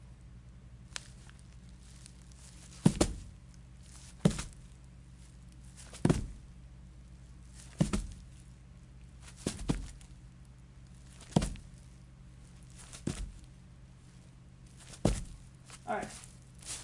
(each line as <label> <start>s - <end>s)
Impact on Grass or Leaves 0.9s - 4.7s
Impact on Grass or Leaves 7.6s - 8.3s
Impact on Grass or Leaves 9.2s - 10.1s
Impact on Grass or Leaves 11.0s - 11.8s
Impact on Grass or Leaves 12.7s - 13.4s
Impact on Grass or Leaves 14.8s - 16.8s